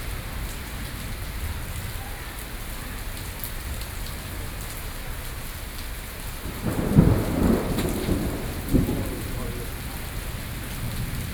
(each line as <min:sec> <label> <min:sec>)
0:05.8 Thunderstorm 0:11.3